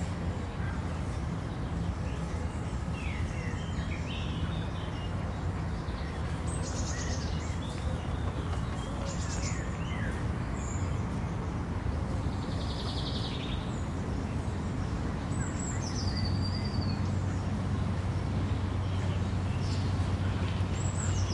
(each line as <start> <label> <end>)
0.0 Distant city traffic 21.3
0.0 birds are singing 21.3